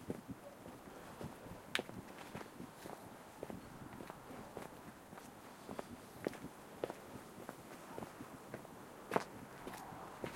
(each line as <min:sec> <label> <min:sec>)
0:00.0 walk 0:10.3